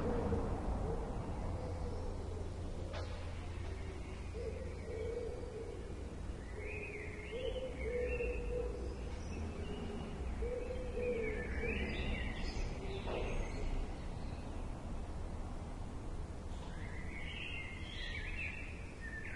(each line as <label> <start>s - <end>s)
City noises 0.0s - 19.3s